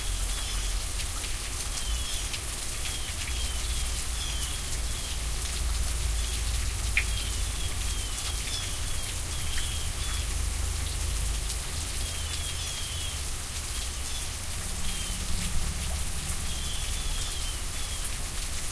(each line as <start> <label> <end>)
0.0 rain falling off eaves 18.7